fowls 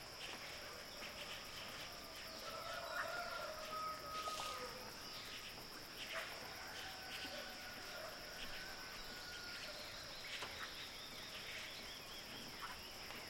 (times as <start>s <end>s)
2.4s 4.8s